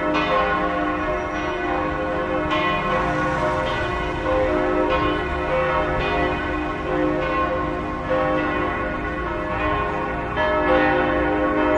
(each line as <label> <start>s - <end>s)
church bell 0.0s - 11.7s